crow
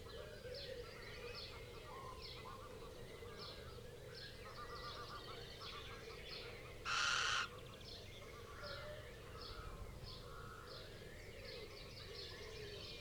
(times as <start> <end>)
6.8 7.7